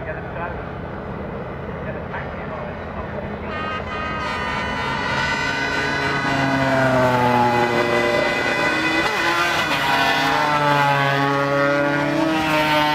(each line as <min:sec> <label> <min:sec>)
0:01.7 commentary 0:04.2
0:07.4 british motorcycling grand prix 2002 ... qualifying 0:12.9